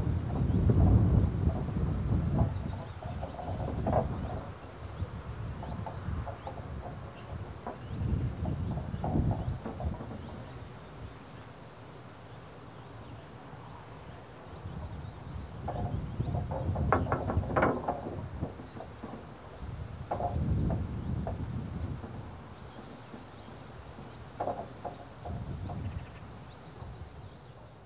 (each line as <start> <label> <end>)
2.2 slabs are loose, knocking about in their fastenings 10.6
15.6 slabs are loose, knocking about in their fastenings 27.1